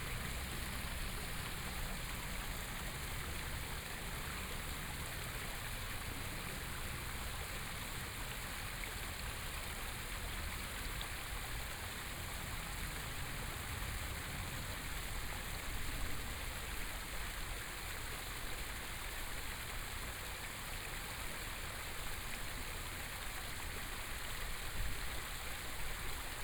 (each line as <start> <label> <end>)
0.0 Fountain 26.4